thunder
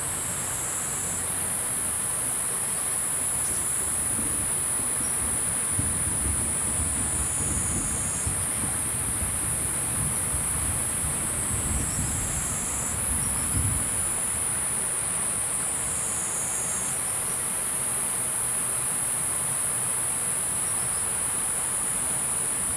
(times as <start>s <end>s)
4.1s 14.3s